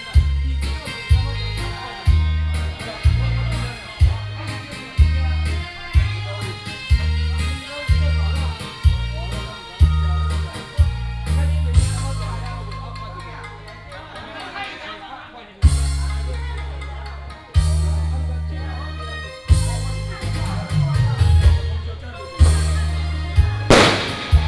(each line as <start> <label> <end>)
23.7 Firecrackers and fireworks 24.4